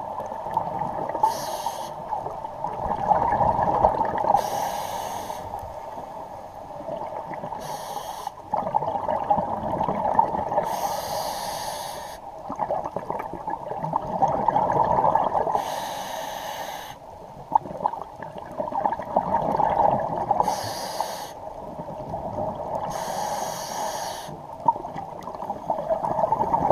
scuba regulator 0:00.9 - 0:02.3
bubbles 0:02.2 - 0:04.4
scuba regulator 0:02.9 - 0:05.8
scuba regulator 0:07.4 - 0:12.6
bubbles 0:08.4 - 0:10.7
bubbles 0:12.4 - 0:15.6
scuba regulator 0:14.2 - 0:17.0
bubbles 0:17.4 - 0:20.4
scuba regulator 0:19.2 - 0:21.4
scuba regulator 0:22.8 - 0:24.4
bubbles 0:24.5 - 0:26.7

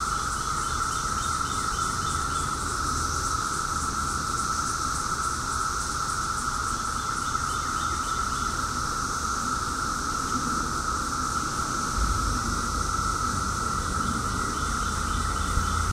cicadas 0:00.0 - 0:15.9

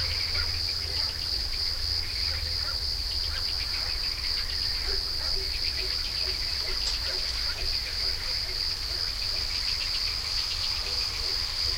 birds 0:00.0 - 0:11.7
crickets 0:00.0 - 0:11.7
frogs 0:00.0 - 0:11.7
barking dogs 0:04.8 - 0:09.5
barking dogs 0:10.8 - 0:11.7

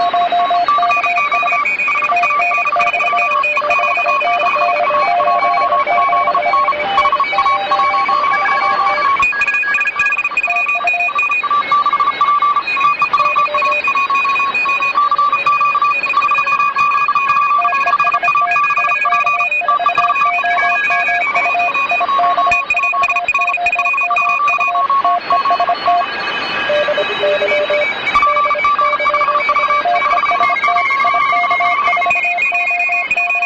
automatic morse stations 0:00.0 - 0:33.4

